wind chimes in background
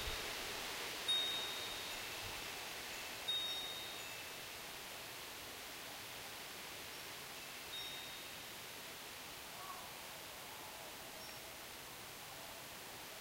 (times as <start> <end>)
1.0 5.0, 7.4 8.4